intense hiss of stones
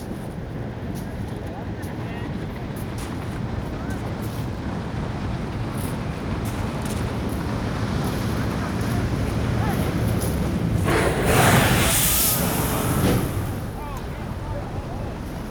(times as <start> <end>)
10.8 14.7